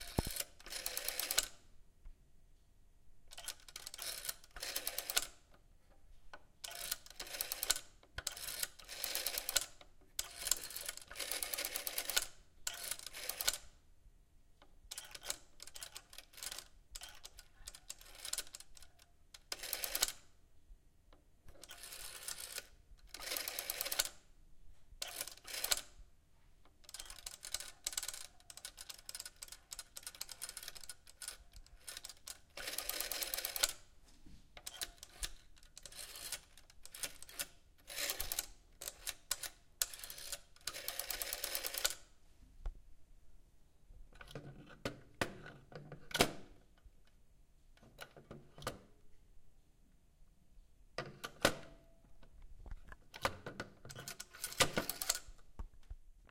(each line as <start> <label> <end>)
0.0 dialing with 60's dial telephone 1.5
3.3 dialing with 60's dial telephone 5.4
6.6 dialing with 60's dial telephone 13.6
14.9 dialing with 60's dial telephone 20.2
21.5 dialing with 60's dial telephone 24.2
25.0 dialing with 60's dial telephone 26.0
26.8 dialing with 60's dial telephone 33.8
34.6 dialing with 60's dial telephone 42.0
52.9 dialing with 60's dial telephone 55.4